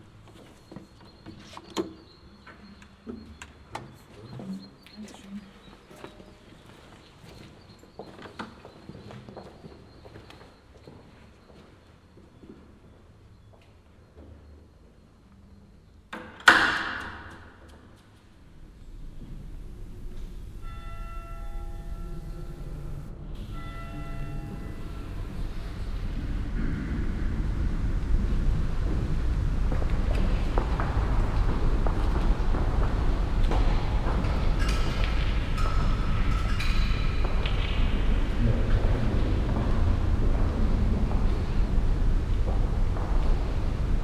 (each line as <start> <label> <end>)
4.0 people whispering 6.4